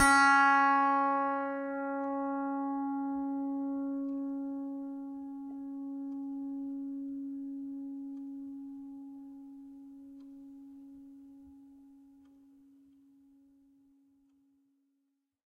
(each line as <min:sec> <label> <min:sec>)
0:00.0 piano strings played with a finger 0:06.1